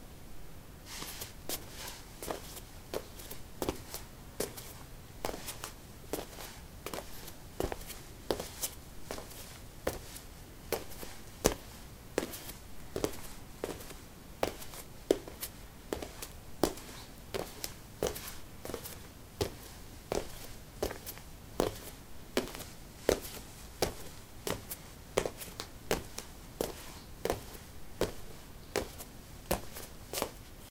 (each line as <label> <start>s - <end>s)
barefeet walk 0.9s - 30.7s